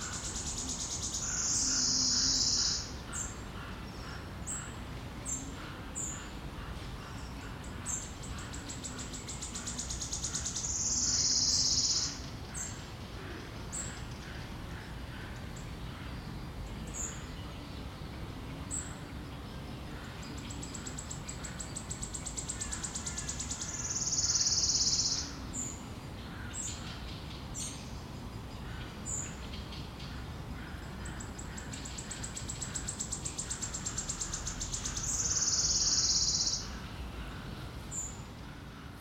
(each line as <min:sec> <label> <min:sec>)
0:00.0 Bird trills 0:03.4
0:00.0 voices of other birds 0:39.0
0:20.4 Bird trills 0:25.4
0:30.8 Bird trills 0:36.8